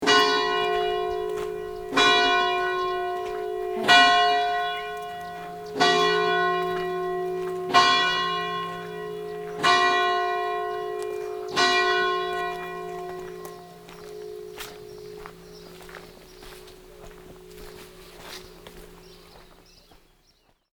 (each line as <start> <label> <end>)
0.0 hour bell 19.8